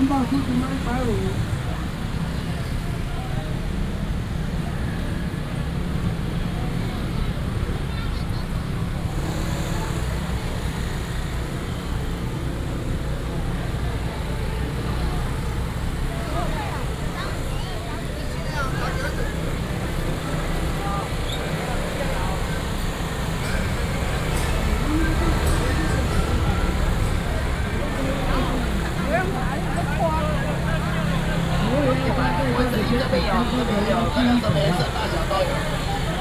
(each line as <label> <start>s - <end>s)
Street vendors selling voice 0.0s - 36.2s
motorcycle sounds 0.0s - 36.2s